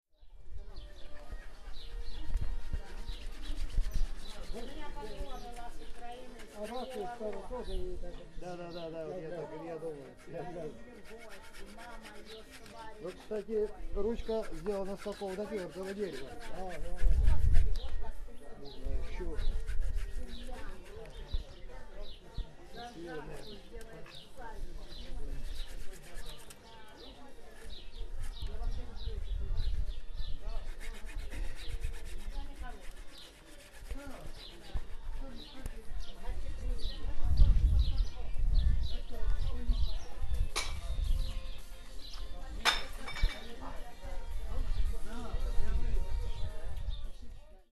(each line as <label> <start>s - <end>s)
russians talking 0.6s - 47.7s
sawing off the axe head from the stick 10.2s - 17.8s
sawing off the axe head from the stick 30.6s - 35.5s